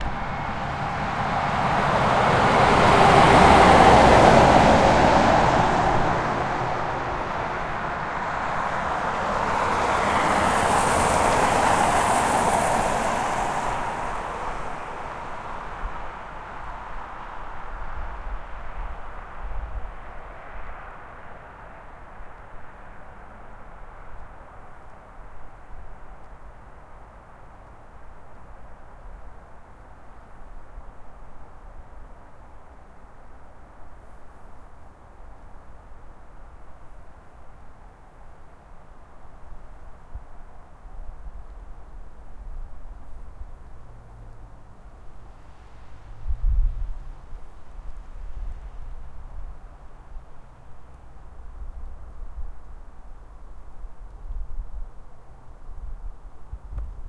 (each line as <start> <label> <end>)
0.0 truck 30.0
0.0 two cars at the road 57.0
31.6 truck 57.0